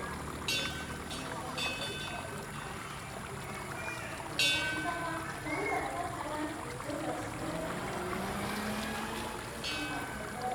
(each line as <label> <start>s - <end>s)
water streams 0.0s - 10.5s